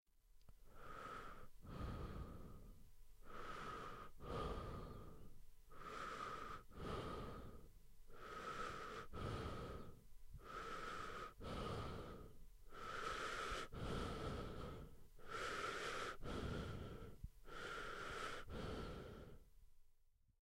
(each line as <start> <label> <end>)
0.6 male breaths in and out 19.5